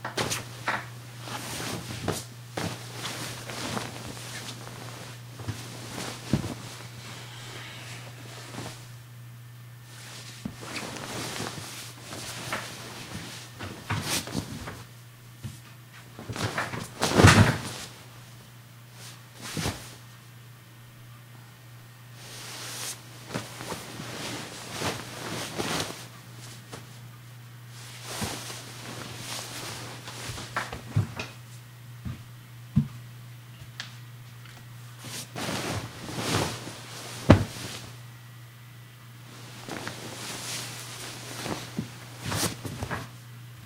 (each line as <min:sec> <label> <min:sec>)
0:00.0 sheet and bed movement with rustles 0:09.1
0:09.8 sheet and bed movement with rustles 0:20.2
0:22.1 sheet and bed movement with rustles 0:33.0
0:34.8 sheet and bed movement with rustles 0:38.2
0:39.2 sheet and bed movement with rustles 0:43.6